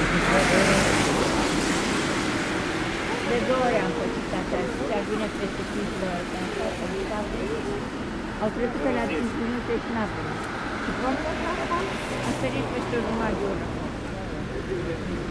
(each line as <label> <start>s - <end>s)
people are commenting 0.0s - 15.3s